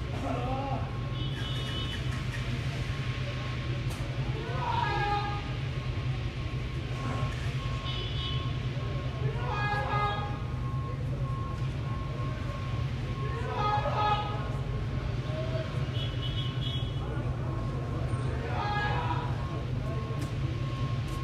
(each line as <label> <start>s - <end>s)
Man shouting 18.3s - 19.4s